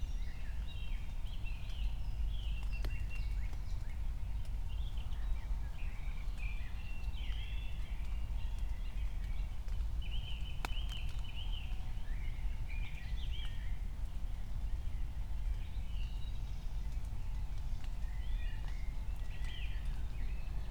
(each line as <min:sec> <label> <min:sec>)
0:00.0 raindrops 0:20.7